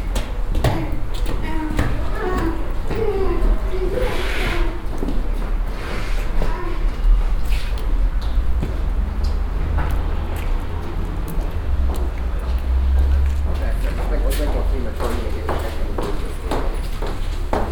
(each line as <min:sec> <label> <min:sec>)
0:00.0 steps 0:17.7
0:00.2 voices 0:05.2